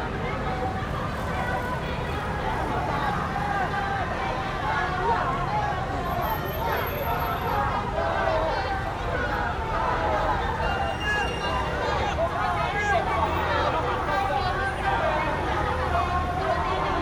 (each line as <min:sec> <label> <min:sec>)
0:00.0 Election Parade 0:17.0
0:00.0 Traffic Sound 0:17.0